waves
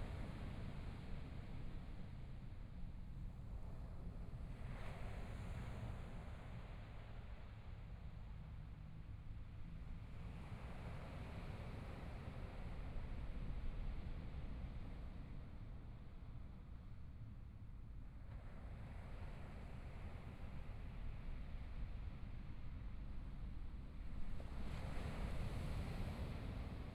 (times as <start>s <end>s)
24.2s 26.9s